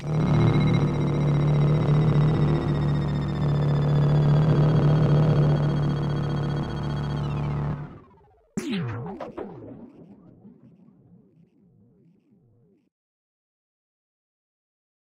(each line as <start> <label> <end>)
8.6 shot 10.7